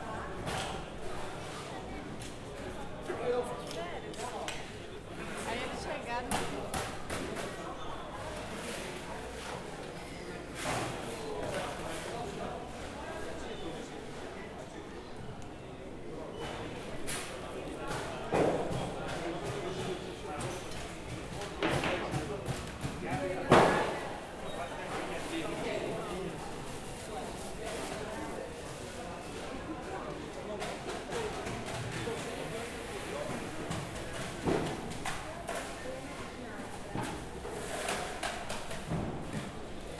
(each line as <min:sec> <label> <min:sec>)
0:00.0 busy market activities 0:39.9
0:00.0 people 0:39.9